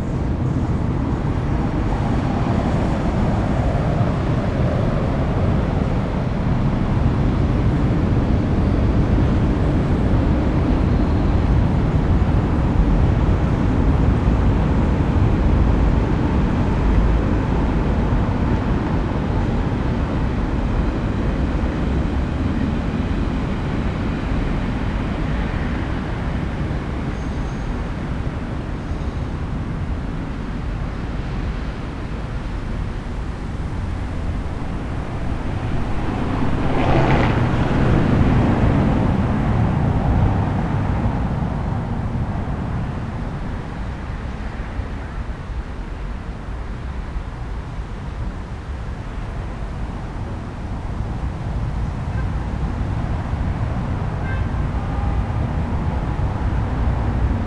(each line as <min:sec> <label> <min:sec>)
0:00.0 traffic noise 0:57.4